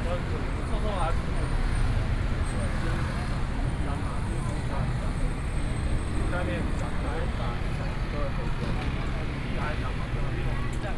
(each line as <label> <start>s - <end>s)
High school students on the streets 0.0s - 10.9s